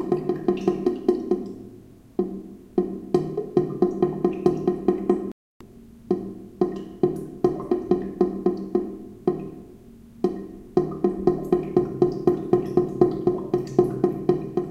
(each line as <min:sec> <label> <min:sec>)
0:10.3 drain after a water flow 0:14.7